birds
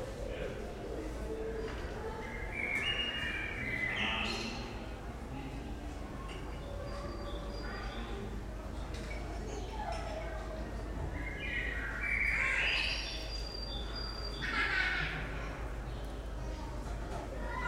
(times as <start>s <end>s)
1.5s 4.9s, 6.4s 8.7s, 9.4s 15.2s